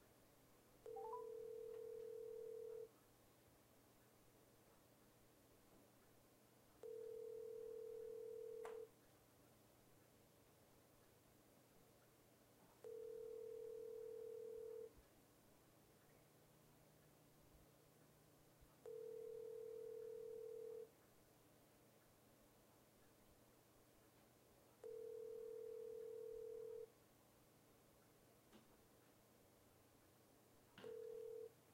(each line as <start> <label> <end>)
0.9 dial tone when calling someone on a cell phone 2.9
6.8 dial tone when calling someone on a cell phone 8.9
12.8 dial tone when calling someone on a cell phone 14.9
18.9 dial tone when calling someone on a cell phone 20.9
24.8 dial tone when calling someone on a cell phone 26.9
30.8 dial tone when calling someone on a cell phone 31.6